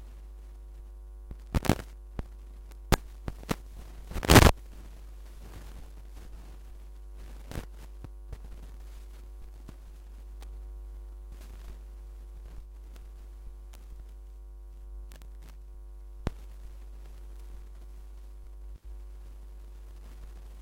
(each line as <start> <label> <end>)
0.0 hum 20.6
0.0 static 20.6
4.1 vinyl scratch 4.5